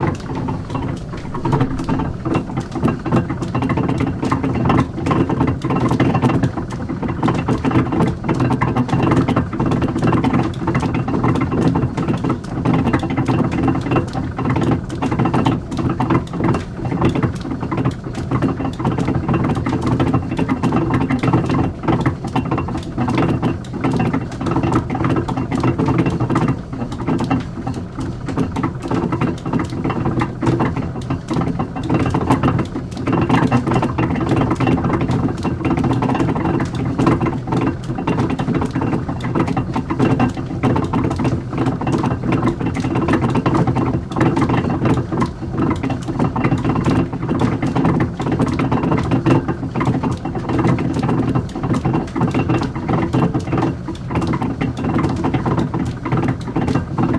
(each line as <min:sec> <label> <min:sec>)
0:00.0 MILL's mechanism 0:07.0